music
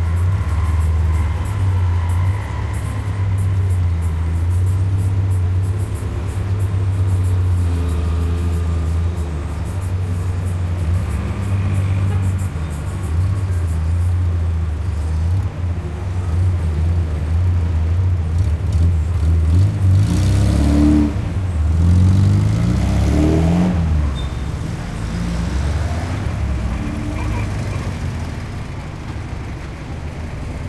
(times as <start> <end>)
0.0 18.3